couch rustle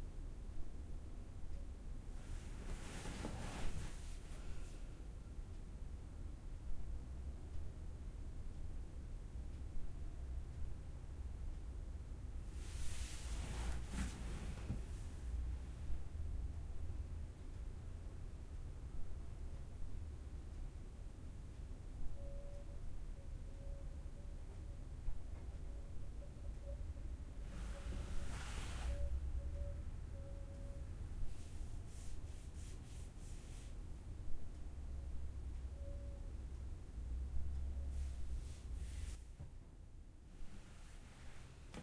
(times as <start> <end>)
2.2 4.6, 12.6 15.0